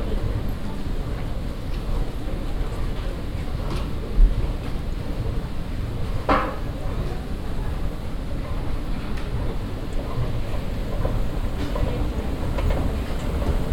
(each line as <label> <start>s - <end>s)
moving staircases 9.2s - 13.7s